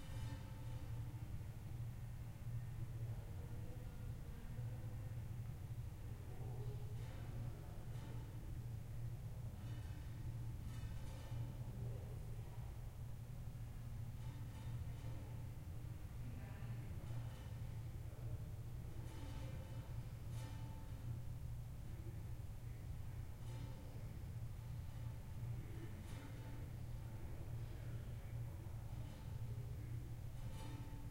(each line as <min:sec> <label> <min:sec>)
0:00.0 people walking through the gallery, across wooden floors 0:10.7
0:00.0 quiet conversation 0:31.1
0:11.5 people walking through the gallery, across wooden floors 0:31.1